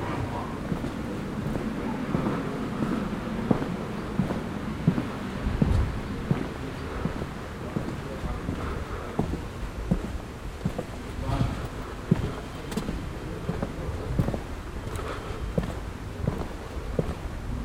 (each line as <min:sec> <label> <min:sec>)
0:00.0 gang durch die altstadt 0:17.6
0:06.2 konversation 0:15.7